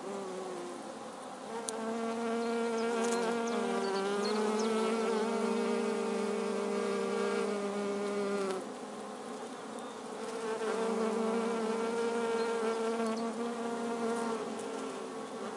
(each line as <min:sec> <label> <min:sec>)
0:00.0 2 foraging bees 0:15.5
0:00.0 flying lots of male bees 0:15.5
0:01.0 Birds 0:15.5